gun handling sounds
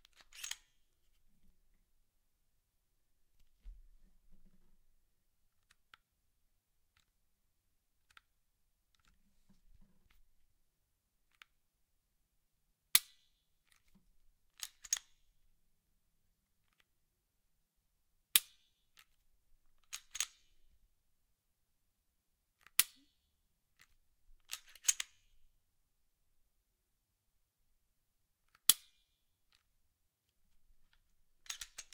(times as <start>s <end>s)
0.1s 0.8s